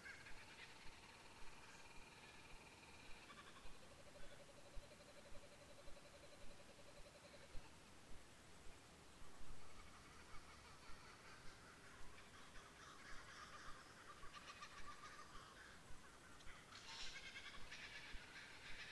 flock of kookaburras 0.0 - 7.8
flock of kookaburras 9.3 - 18.9

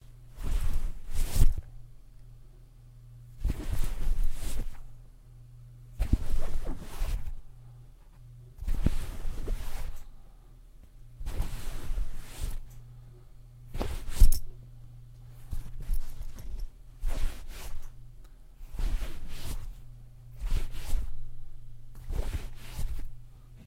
something pulled out of a pocket or bag 0.4 - 1.6
something pulled out of a pocket or bag 22.0 - 23.1

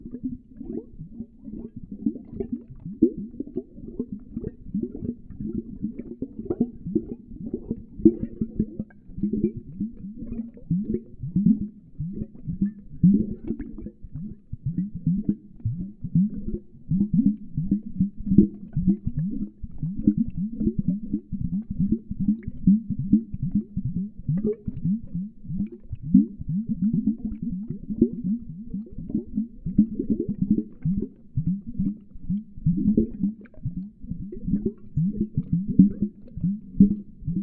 viscious liquid gurgling 0.0 - 37.4

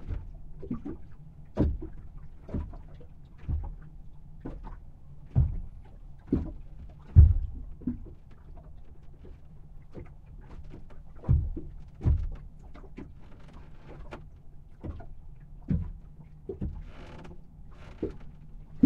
complaining boat 0.0 - 18.8
choppy waves 17.6 - 18.8

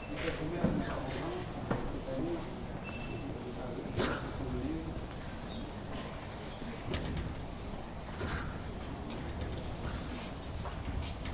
Footsteps 0.0 - 11.3
door sounds 6.6 - 11.3

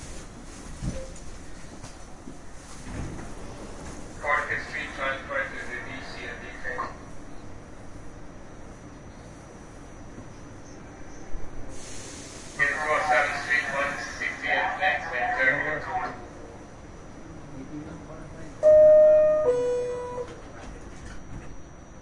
announcement and sounds on platform 3.5 - 22.0
conductor announcements 4.2 - 7.2
air brakes 11.7 - 12.6
conductor announcements 12.5 - 20.7
random light unintelligible conversation 12.6 - 18.6

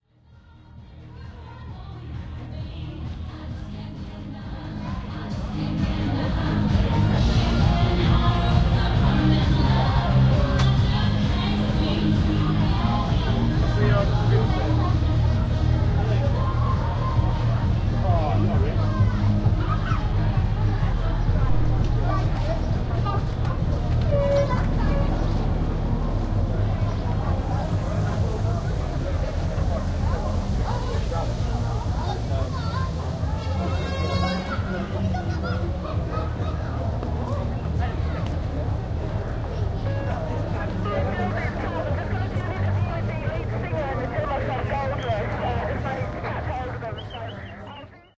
crowd 0.0 - 48.1
children's entertainers 0.7 - 48.1

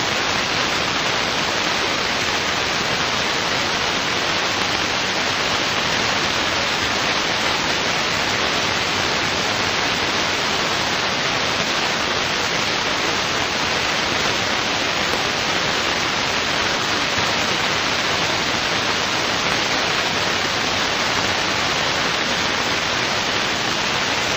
burst of white noise with some static spikes 0.0 - 24.3

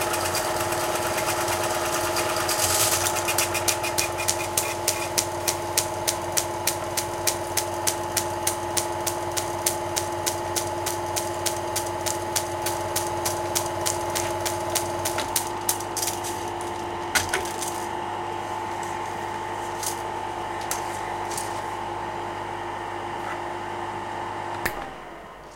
Film projector 0.0 - 21.8

